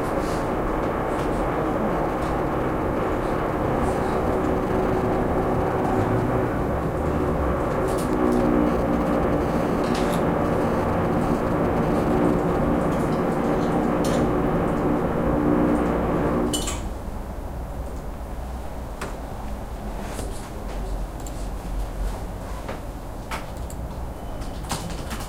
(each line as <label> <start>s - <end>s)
keyboard 0.0s - 16.9s
Construction works behind the wall 0.0s - 18.2s